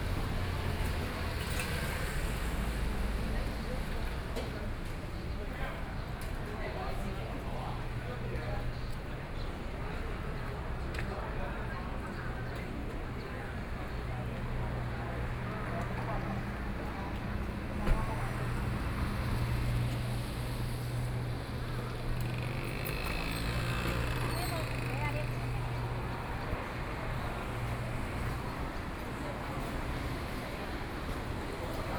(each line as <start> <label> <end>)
0.0 Traffic Sound 5.5
0.0 Various shops voices 31.9
0.0 walking on the Road 31.9
12.8 Traffic Sound 31.9